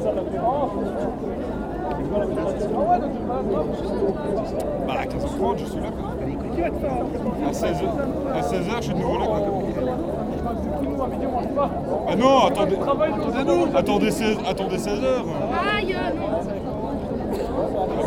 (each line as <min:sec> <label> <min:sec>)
0:04.2 students taning, joking and drinking warm bad beers 0:18.0